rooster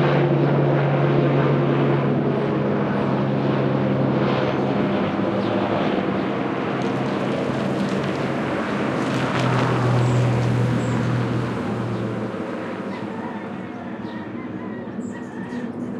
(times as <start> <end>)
12.9 15.9